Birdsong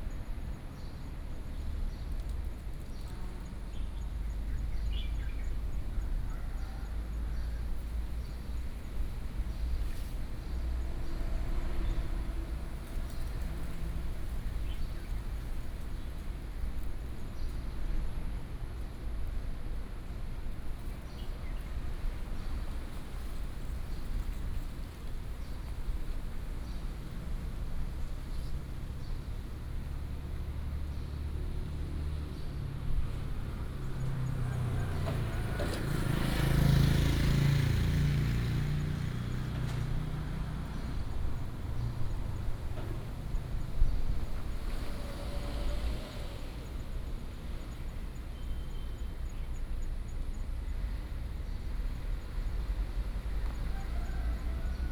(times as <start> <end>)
39.3 54.9